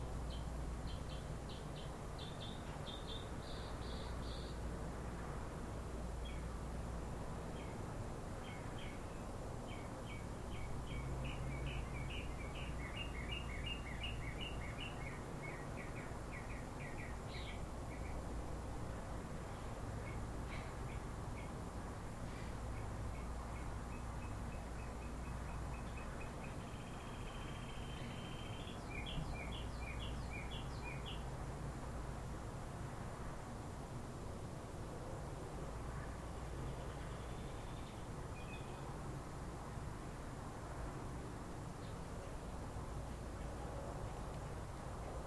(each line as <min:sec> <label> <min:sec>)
0:00.2 bird 0:04.6
0:08.4 bird 0:18.2
0:22.3 bird 0:31.2
0:36.5 bird 0:38.9